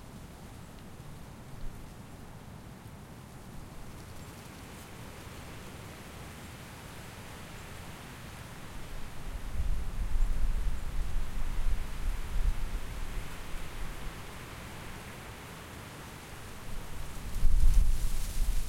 16.8s wind gusts 18.6s

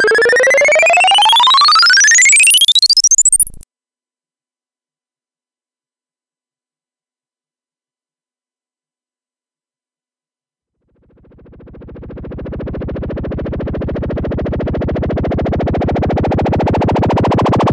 0.0s bleeps and sweeps 3.6s

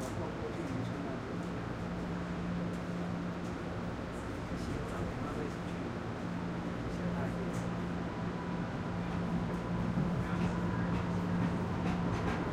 0.0s subway 12.5s

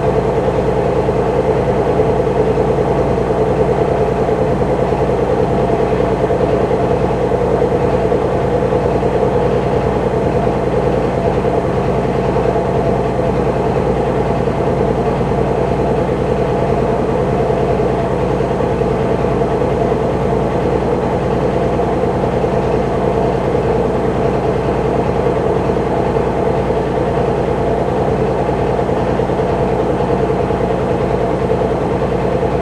0.0s old washing machine 32.6s

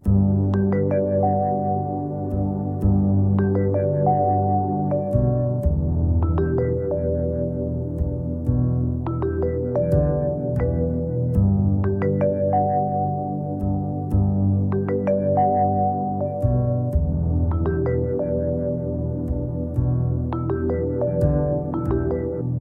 0.0s Lofi Melody 22.6s

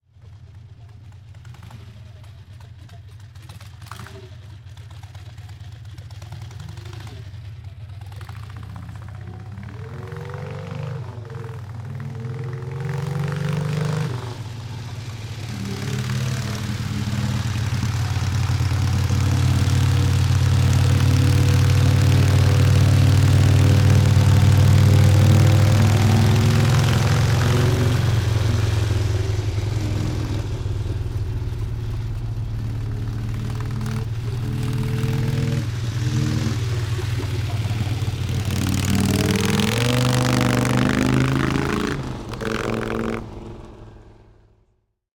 0.0s Motorcycle 45.1s

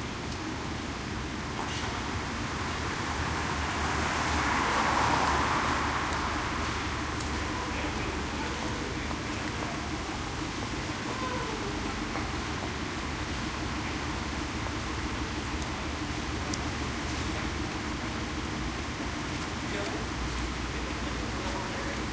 6.6s people 22.1s

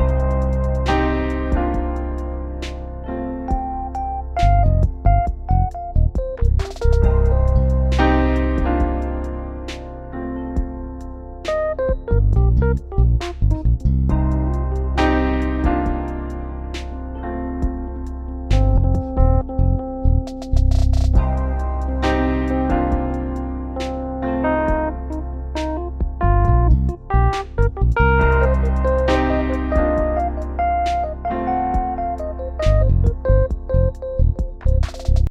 0.0s trap drums 2.0s
0.0s notes of blues 20.6s
3.5s trap drums 9.8s
10.6s trap drums 16.2s
20.3s trap drums 23.2s
21.2s notes of blues 35.0s
24.6s trap drums 35.2s

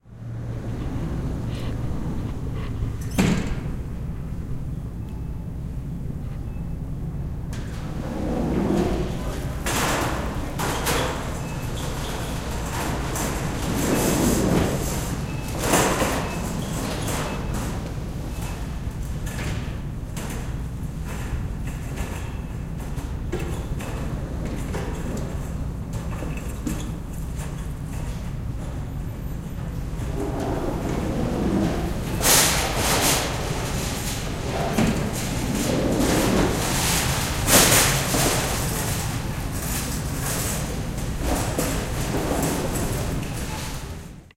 0.6s automatic door 4.1s
7.5s automatic door 28.8s
7.6s people retrieving and rolling their shopping carts 19.4s
29.4s automatic door 44.1s
30.0s people retrieving and rolling their shopping carts 44.1s

